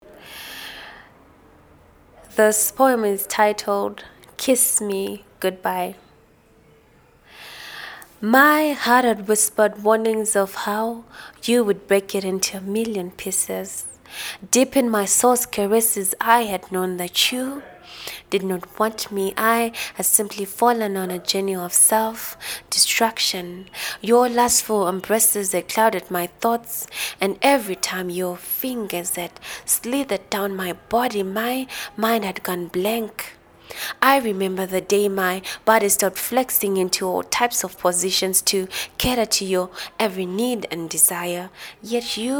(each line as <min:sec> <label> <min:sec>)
0:02.2 poems 0:06.1
0:08.0 poems 0:42.3